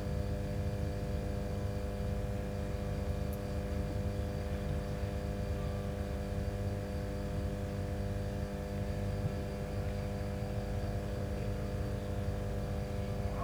hum of a transformer station 0:00.0 - 0:13.4

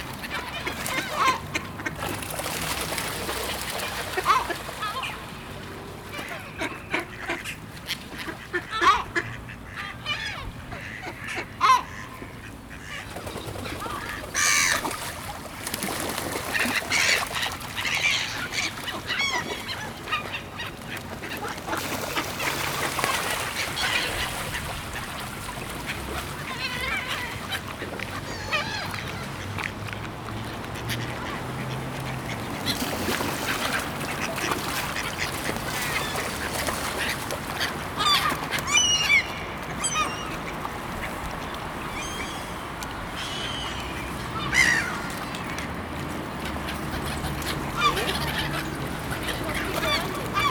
Traffic 0:00.0 - 0:09.8
mallards 0:00.0 - 0:45.9
gulls 0:00.0 - 0:05.3
gulls 0:06.1 - 0:29.5
Traffic 0:14.0 - 0:50.5
gulls 0:30.8 - 0:45.7
mallards 0:46.5 - 0:50.5
gulls 0:46.6 - 0:50.5

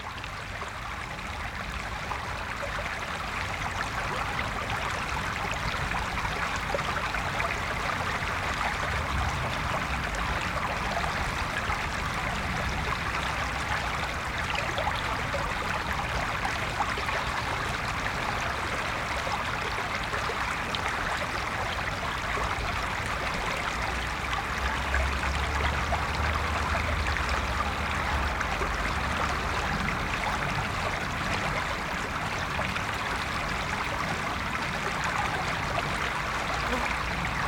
Water flow 0:00.0 - 0:37.4

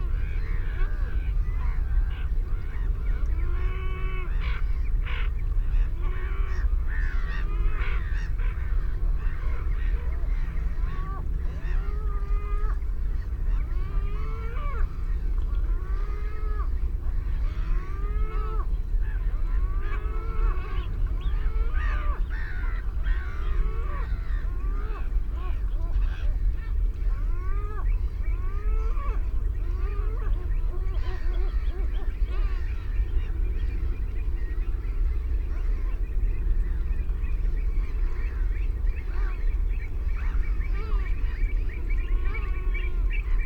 canada goose 0:00.0 - 0:43.4
herring gull 0:00.0 - 0:43.4
ringed plover 0:00.0 - 0:43.4
black-headed gull 0:00.1 - 0:43.4

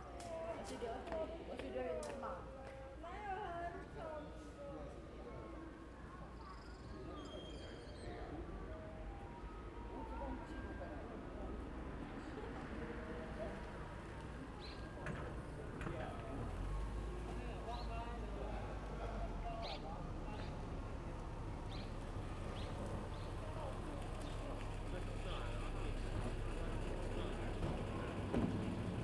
Many people gathered 0:00.0 - 0:29.0
Traffic Sound 0:09.1 - 0:29.0

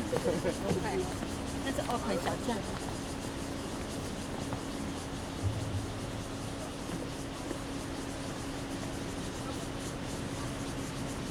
Cicadas sound 0:00.0 - 0:11.3
Traffic Sound 0:05.3 - 0:07.8

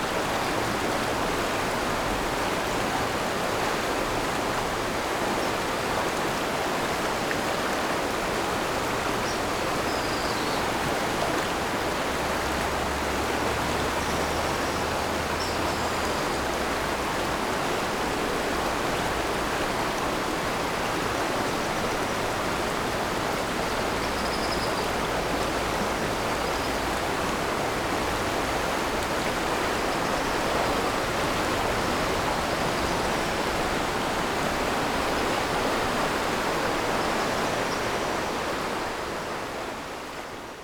Stream after Typhoon 0:00.0 - 0:40.6

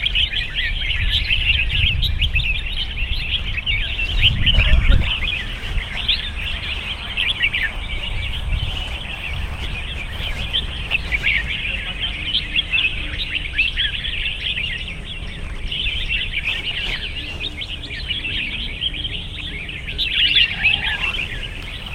Bird Singing Contest 0:00.0 - 0:21.9

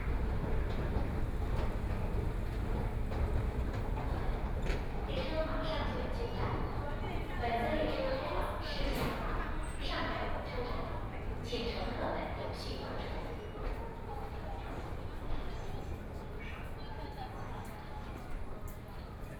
Walking in the subway station 0:00.0 - 0:19.3

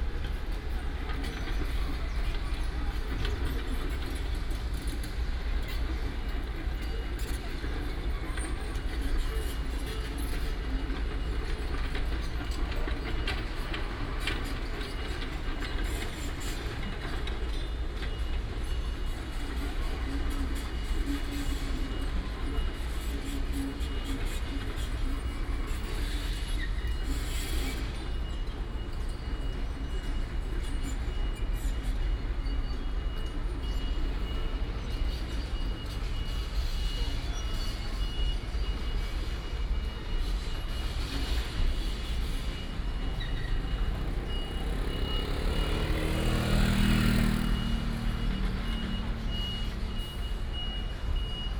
traffic sound 0:00.0 - 0:51.5
Site construction sound 0:38.6 - 0:51.5

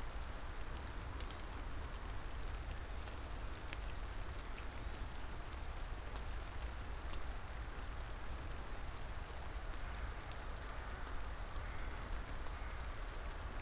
rain 0:00.0 - 0:13.6

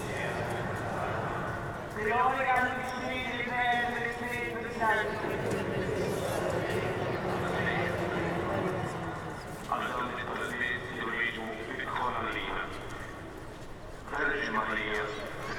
prayer amplified from inside the church 0:00.0 - 0:15.5

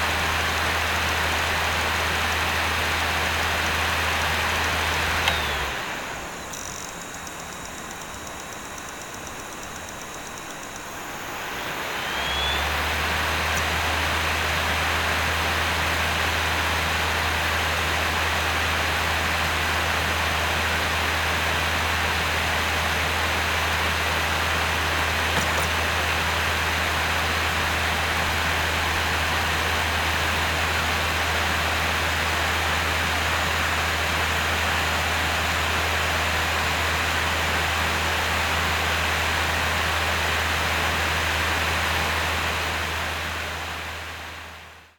unreadable cd 0:04.6 - 0:14.2
unreadable cd 0:25.2 - 0:26.1

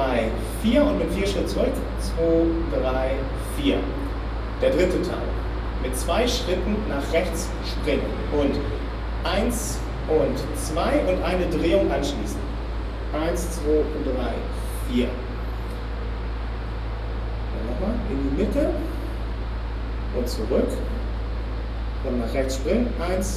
speaker describing the movements 0:00.0 - 0:15.9
speaker describing the movements 0:17.5 - 0:19.3
speaker describing the movements 0:20.0 - 0:21.2
speaker describing the movements 0:22.0 - 0:23.3

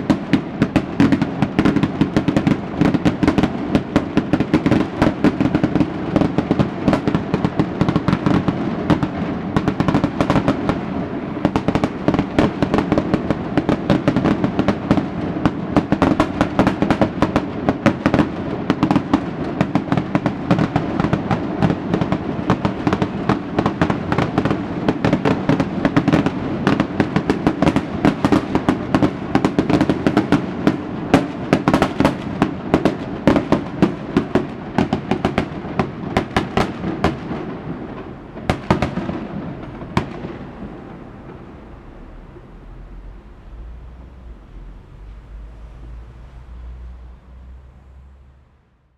Fireworks 0:00.0 - 0:46.7
firecrackers 0:00.0 - 0:47.8

